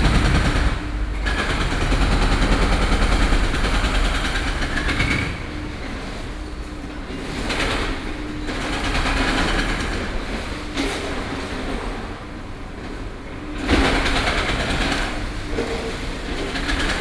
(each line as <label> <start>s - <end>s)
Removal of school buildings 0.0s - 1.7s